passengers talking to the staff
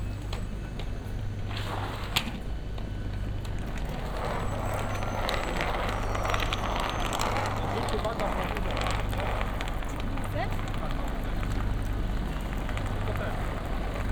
0:07.2 0:14.1

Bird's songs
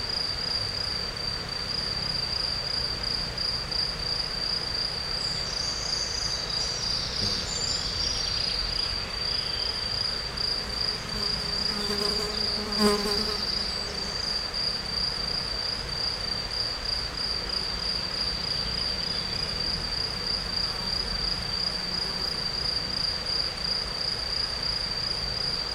0:05.2 0:09.9

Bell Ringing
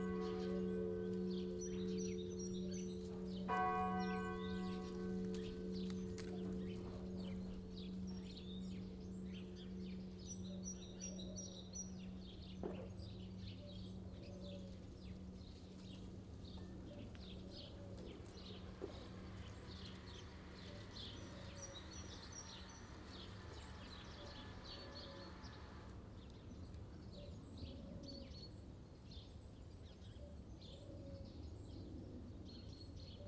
0:00.0 0:11.6

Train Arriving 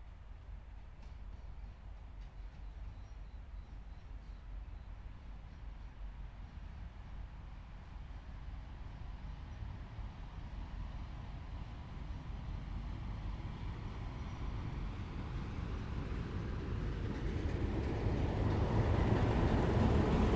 0:13.0 0:20.3

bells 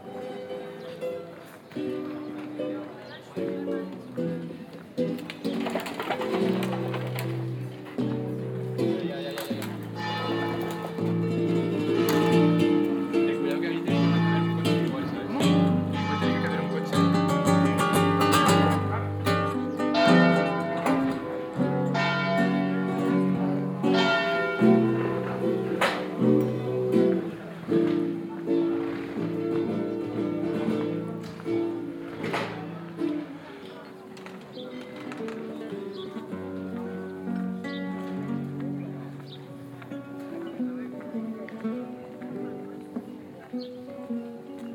0:09.3 0:27.3

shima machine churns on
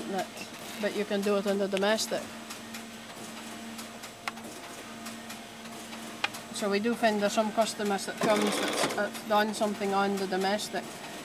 0:08.1 0:09.3

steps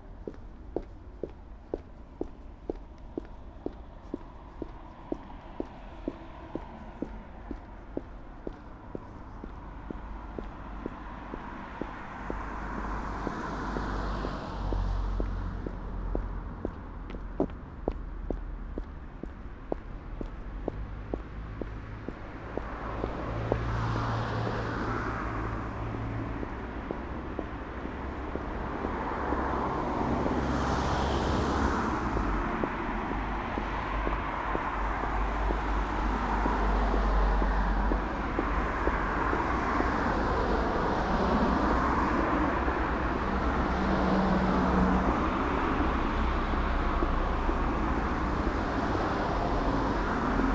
0:00.1 0:23.9, 0:24.6 0:29.7, 0:32.0 0:40.1

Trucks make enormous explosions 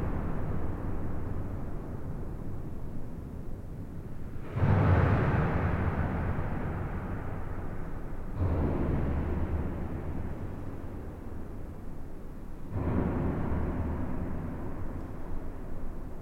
0:04.3 0:11.2

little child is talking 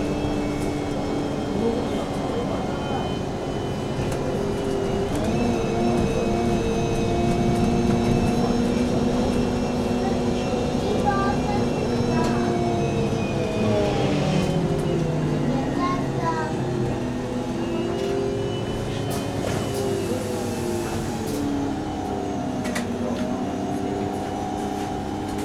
0:10.0 0:12.4, 0:15.5 0:16.8

